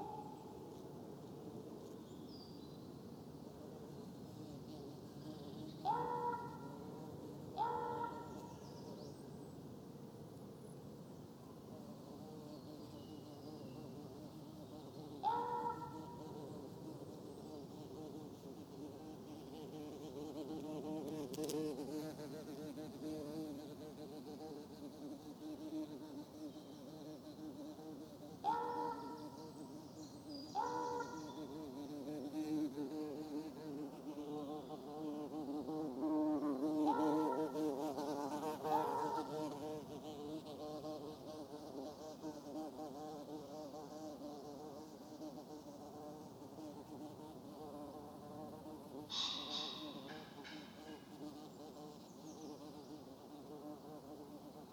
0.0s gentle breeze blowing in the tops of the trees 54.7s
49.0s one makes unusual calls from a tall fir 51.6s

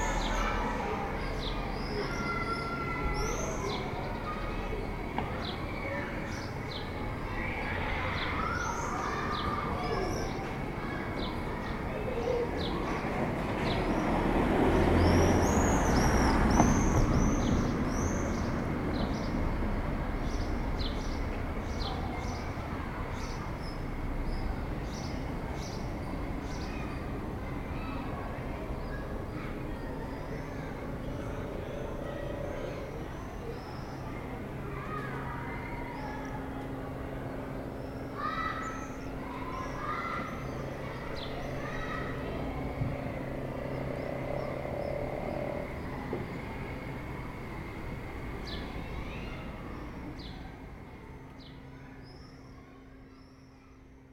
0.0s voitures de passage 52.1s
0.0s les cloches de Notre Dame sonnent 53.4s
0.0s martinets crient dans le ciel 54.1s

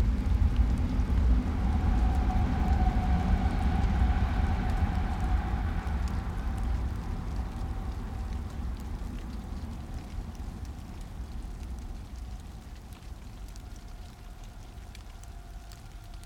0.0s normal SBahn passenger trains 8.5s
0.0s distant city 16.2s

